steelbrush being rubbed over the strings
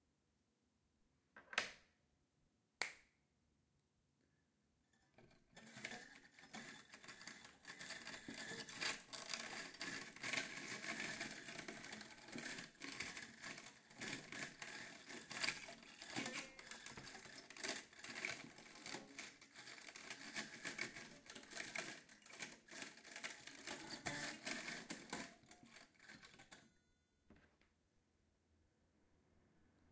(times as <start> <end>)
5.6 26.4